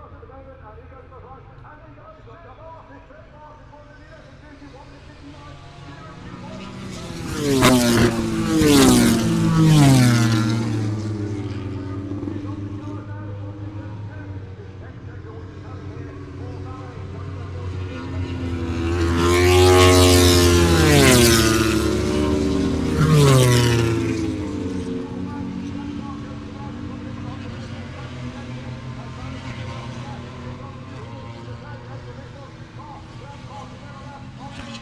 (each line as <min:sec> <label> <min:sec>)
0:00.0 motorcycle grand prix 0:34.8